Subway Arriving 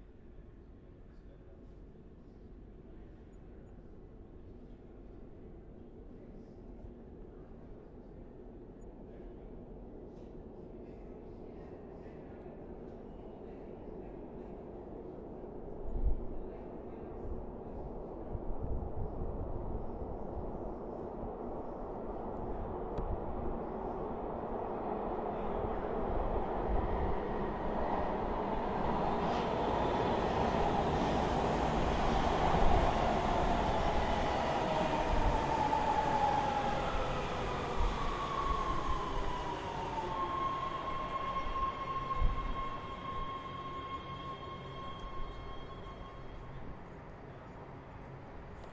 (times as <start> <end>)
12.2 48.7